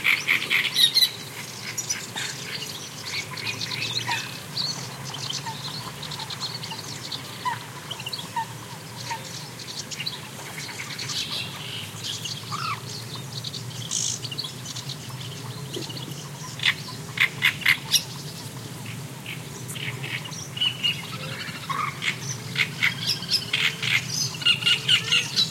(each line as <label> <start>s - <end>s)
callings from Great Reed Warbler 0.0s - 25.5s